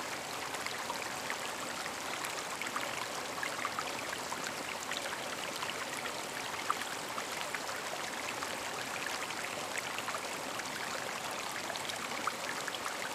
0.0s creek 13.1s

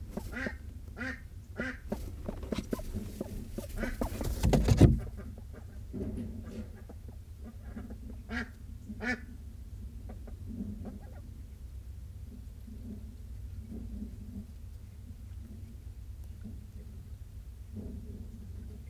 0.0s Ducks and Humans interacting 11.6s
1.9s handling noise 5.2s

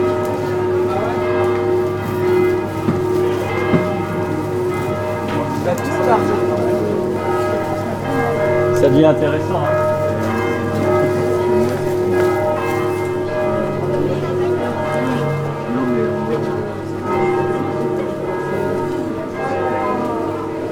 0.0s church bells 20.7s
0.0s market scene 20.7s

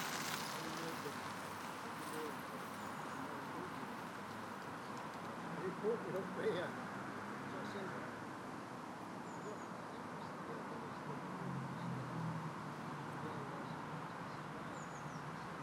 0.0s boats 5.8s
0.0s bicycles 7.9s
0.0s pedestrians 15.6s

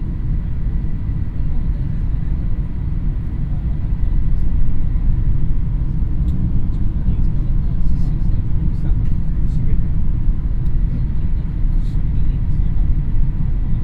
0.0s shinkhansen train 13.8s

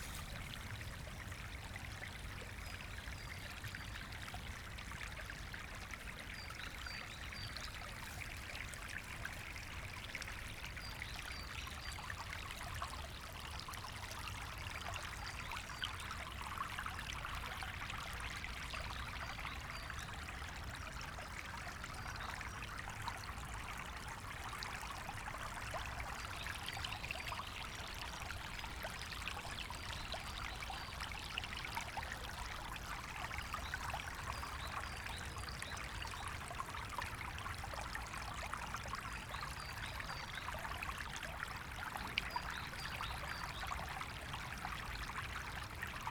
0.0s river Wuhle flow 3.4s

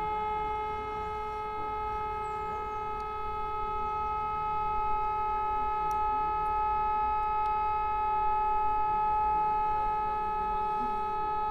0.0s urban sirens 11.5s

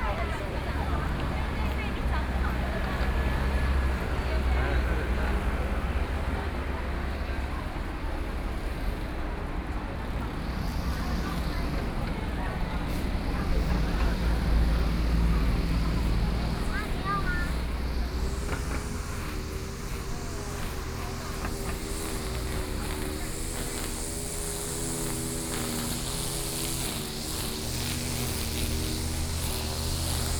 0.0s Many tourists 30.3s
0.0s walking in the Street 30.3s
8.2s Traffic Sound 30.3s

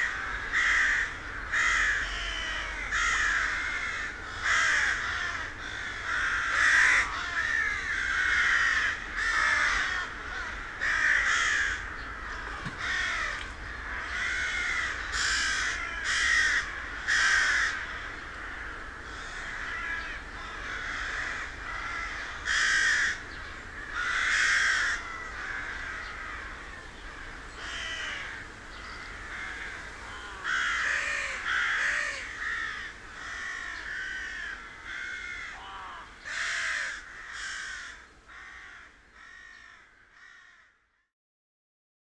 0.0s local crows gathering 41.1s

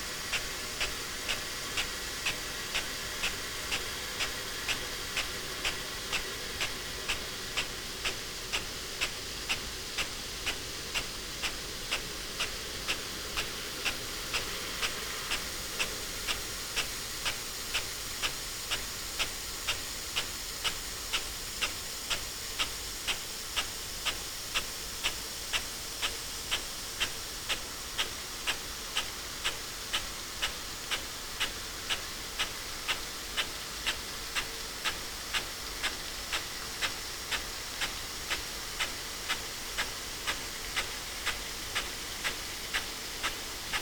0.0s irrigation sprinkler 43.8s

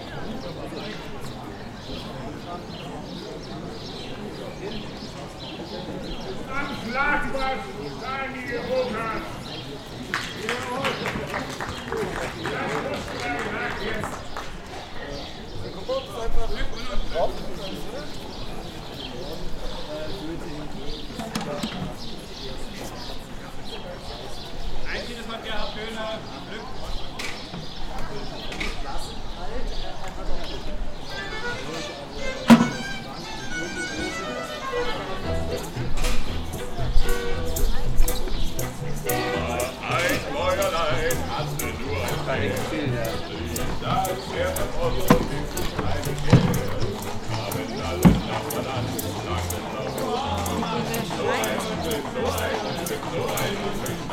0.0s city tour lecture 54.1s
0.0s people 54.1s
31.2s street music 54.1s

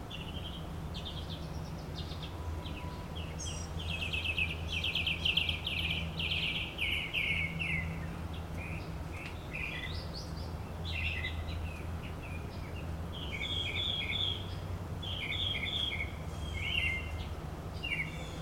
0.0s Mockingbirds 18.4s

